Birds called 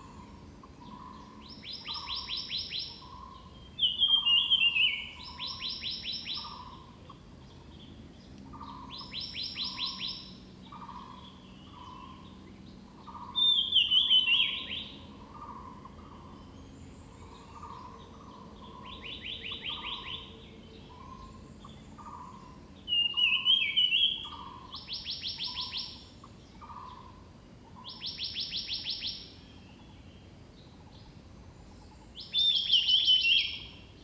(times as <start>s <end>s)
8.5s 29.9s